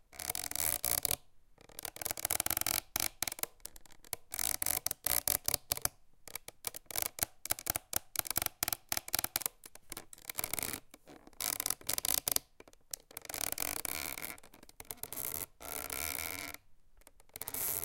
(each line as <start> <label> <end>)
10.1 hamp rope creaks 17.8